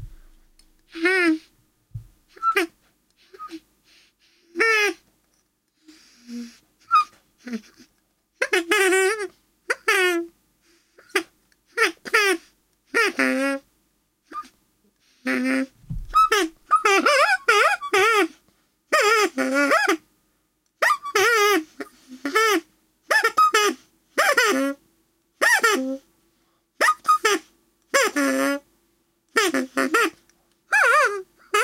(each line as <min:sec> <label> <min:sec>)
0:15.3 party squeaker 0:18.3
0:20.8 party squeaker 0:21.6
0:22.3 party squeaker 0:24.7
0:26.8 party squeaker 0:27.4